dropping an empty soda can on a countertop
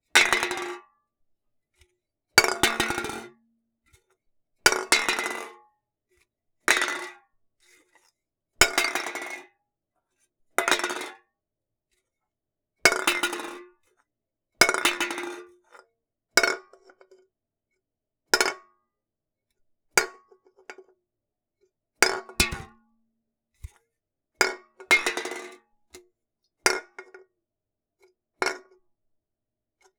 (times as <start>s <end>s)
22.4s 22.8s